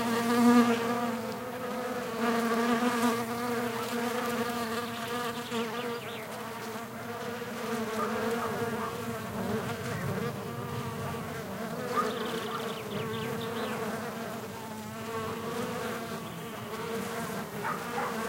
Buzzing bees on a Rosemary shrub 0:00.0 - 0:18.2
birds singing 0:03.8 - 0:06.4
dogs barking 0:07.8 - 0:09.2
birds singing 0:07.9 - 0:18.1
wind noise 0:08.4 - 0:14.6
dogs barking 0:11.8 - 0:13.1
dogs barking 0:17.5 - 0:18.2

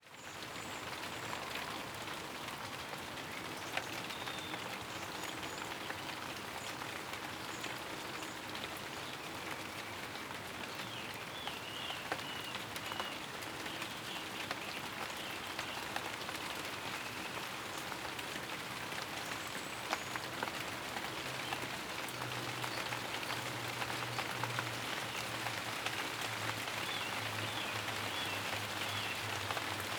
steady rain 0:00.0 - 0:29.9

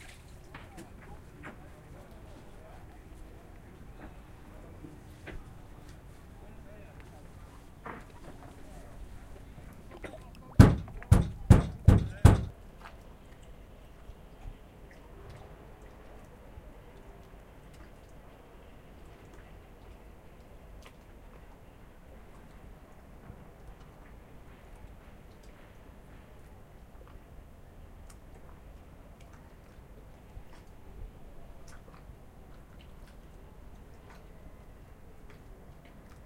boat 0:00.0 - 0:36.2
water 0:00.0 - 0:36.2
hammer 0:10.6 - 0:12.5

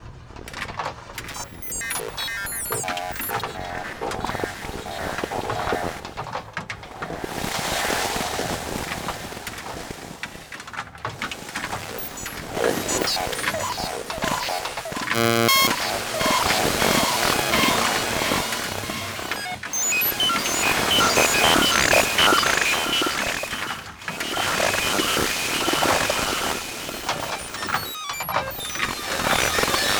random (stepped) analog synth sequences 0:01.3 - 0:06.2
random (stepped) analog synth sequences 0:11.2 - 0:29.9

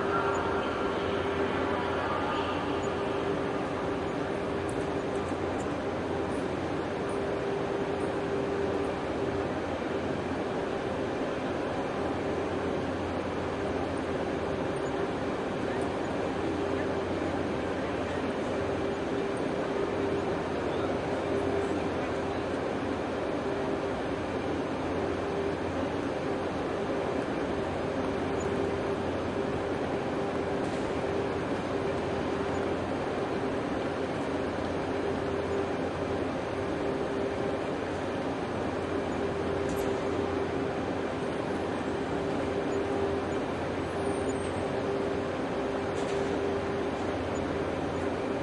female voice makes announcements through station speakers 0:00.0 - 0:05.0
engines 0:00.0 - 0:48.4
working conditioning systems 0:00.0 - 0:48.4

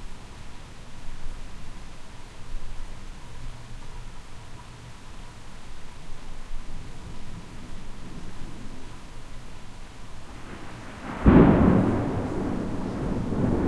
Heavy Rain in Distance 0:00.0 - 0:13.6
Thunder Rumbling 0:06.8 - 0:13.6

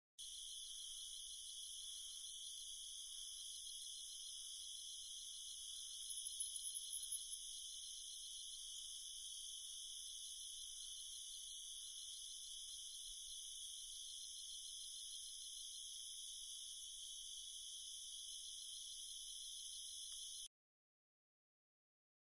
Night Crickets 0:00.2 - 0:20.5
bullfrogs 0:00.2 - 0:20.3

